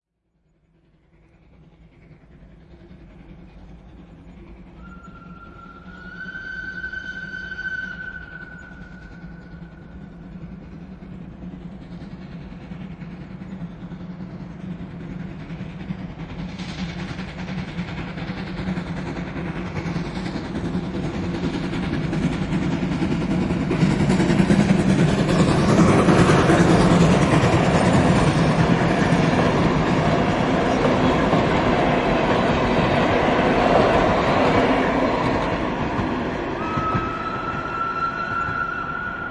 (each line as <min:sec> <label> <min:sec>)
0:00.3 steam locomotive passing 0:39.3
0:04.7 whistle 0:10.2
0:36.6 whistle 0:39.3